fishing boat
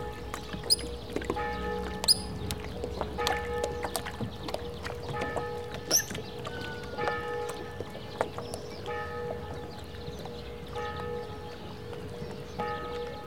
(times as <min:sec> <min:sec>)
0:00.0 0:09.1